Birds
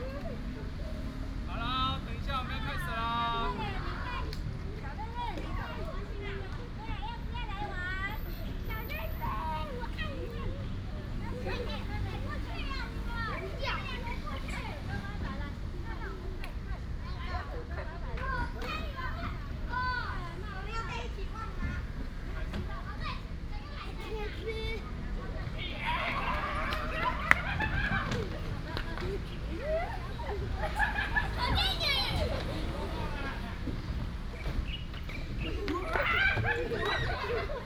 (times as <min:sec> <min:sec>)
0:33.6 0:37.6